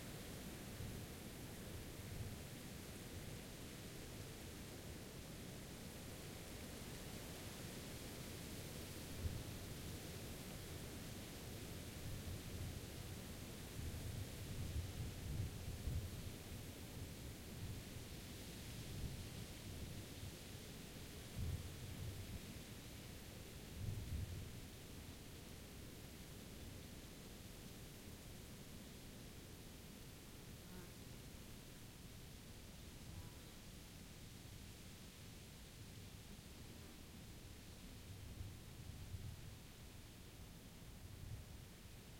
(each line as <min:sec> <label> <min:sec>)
0:00.0 wind 0:42.1